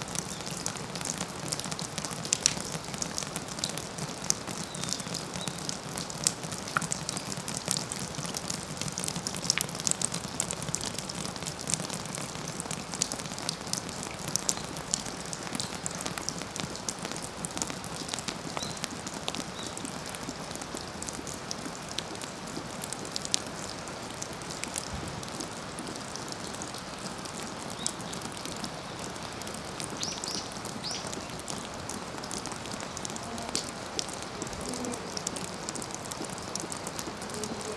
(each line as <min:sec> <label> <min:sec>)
0:00.0 Dripping eaves 0:37.7